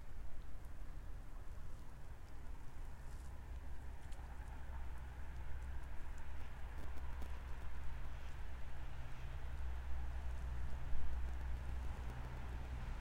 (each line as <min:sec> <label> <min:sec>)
0:01.8 cars 0:13.0